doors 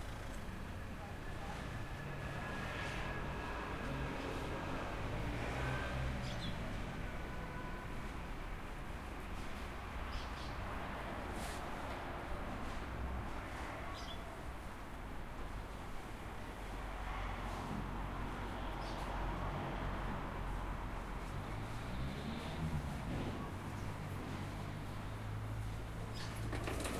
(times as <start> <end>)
26.1 26.9